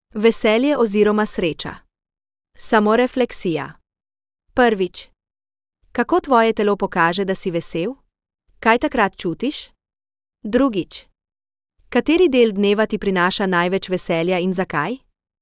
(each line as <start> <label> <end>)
0.2 speech 1.9
2.6 speech 3.8
4.6 speech 5.2
6.0 speech 8.0
8.6 speech 9.8
10.5 speech 11.1
11.9 speech 15.1